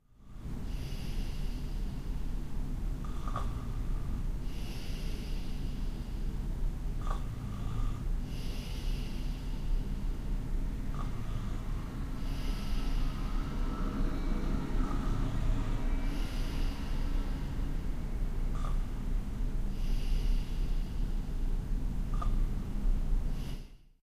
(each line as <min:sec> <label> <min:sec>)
0:00.2 urban noise 0:23.6
0:00.2 breath 0:02.3
0:03.0 breath 0:06.4
0:07.0 breath 0:10.2
0:10.9 breath 0:17.9
0:11.6 scooter is passing through the street 0:18.5
0:18.5 breath 0:19.0
0:19.7 breath 0:21.4
0:22.1 breath 0:22.6
0:23.3 breath 0:23.9